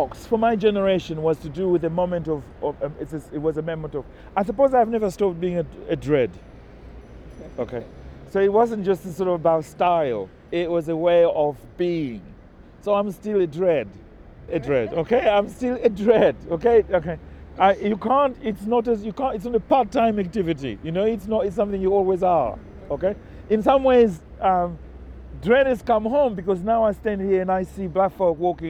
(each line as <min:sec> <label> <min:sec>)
0:00.0 his descriptions, memories and thoughts 0:28.6
0:00.0 walking down Coldharbour Lane 0:28.6